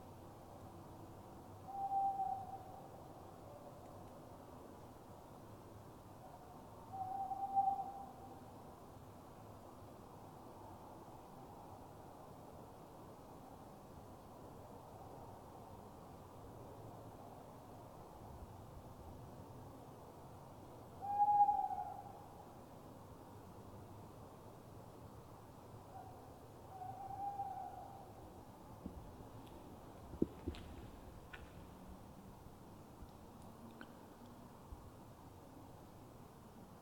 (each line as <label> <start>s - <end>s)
Owls 1.6s - 2.9s
Owls 6.3s - 8.3s
Owls 21.0s - 22.3s
Owls 25.9s - 28.2s